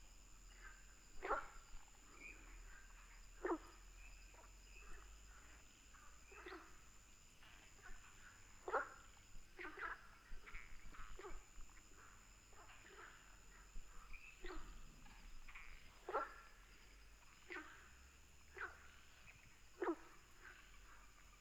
Frogs chirping 0.1 - 21.4

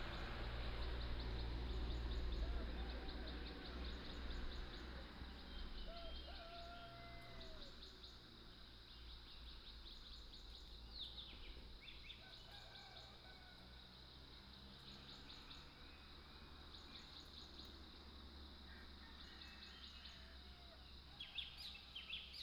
Birdsong 0.0 - 13.5

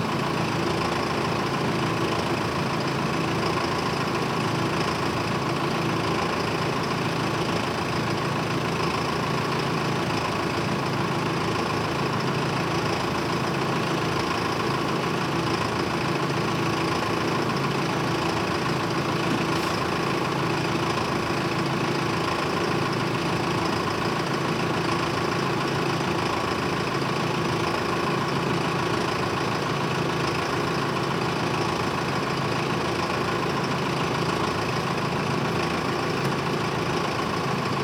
truck 0.0 - 37.8

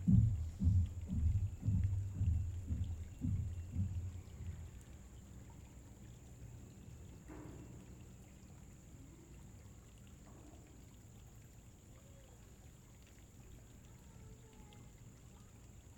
man's heavy footsteps 0.0 - 4.4
family walking by 0.0 - 4.8
creek 0.0 - 15.9

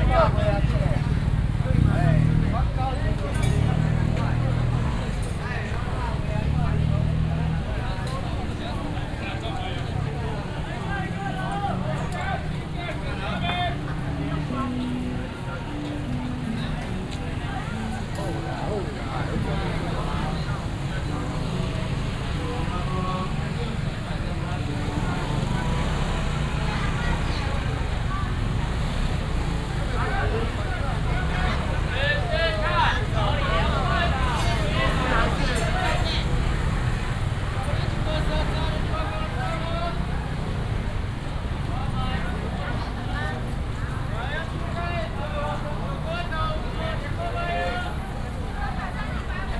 Walking in the traditional market 0.0 - 49.5
traffic sound 0.0 - 49.5

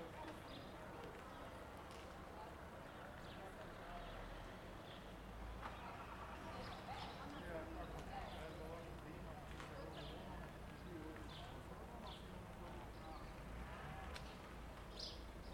Birds (common house martin) singing 0.0 - 1.6
Birds (common house martin) singing 2.4 - 13.5
Birds (common house martin) singing 14.2 - 15.5

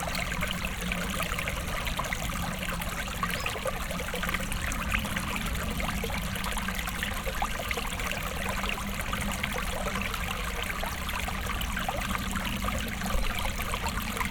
small stream with nice sparkling water sounds flowing 0.0 - 14.3

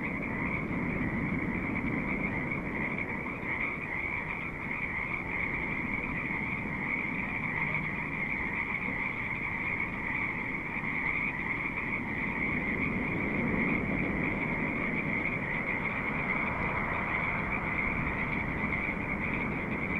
frogs 0.0 - 19.9
sea 0.0 - 19.9

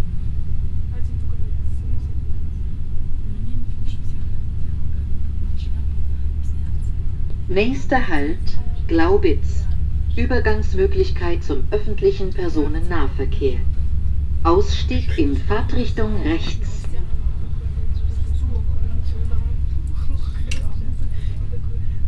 regio train 0.0 - 22.0
conversation of two russian women 1.0 - 19.8
anouncement of next stop 6.6 - 13.8
anouncement of next stop 14.5 - 20.9

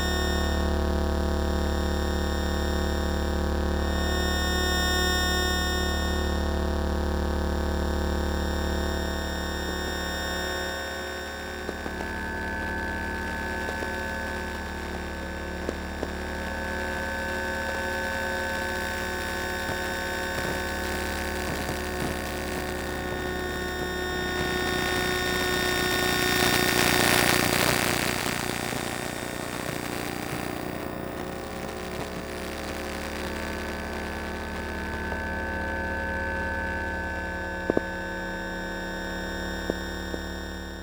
electromagnetic fields 0.0 - 40.8

